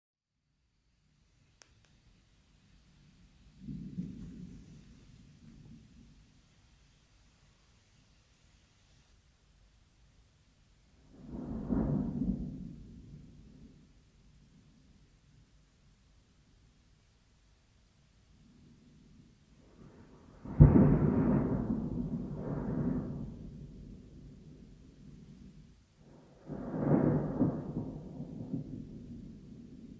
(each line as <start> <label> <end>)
0.7 rain 29.9
3.0 Thunder 6.4
11.0 Thunder 15.0
18.4 Thunder 29.9